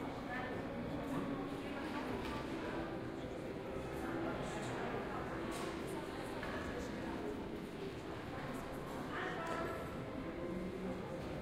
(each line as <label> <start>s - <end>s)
Crowd 0.0s - 11.4s